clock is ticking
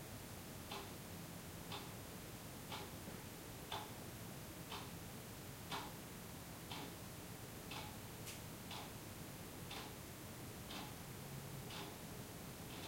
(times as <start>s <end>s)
0.7s 0.9s, 1.7s 2.0s, 2.7s 3.0s, 3.7s 4.0s, 4.7s 5.0s, 5.7s 6.0s, 6.6s 7.0s, 7.7s 8.0s, 8.7s 9.0s, 9.7s 10.0s, 10.6s 11.0s, 11.7s 12.0s